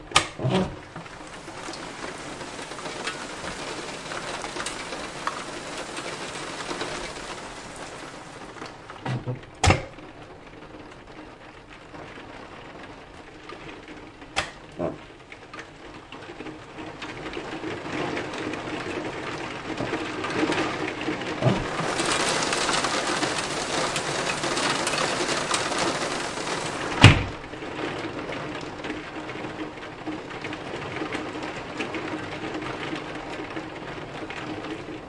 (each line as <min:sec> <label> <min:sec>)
0:00.0 rain on the window 0:35.0
0:00.1 Opening and closing window 0:07.4
0:08.5 Opening and closing window 0:10.0
0:21.4 Opening and closing window 0:27.4